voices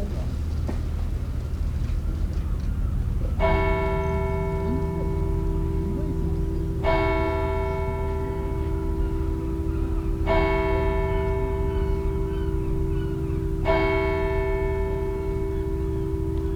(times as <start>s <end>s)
2.1s 10.4s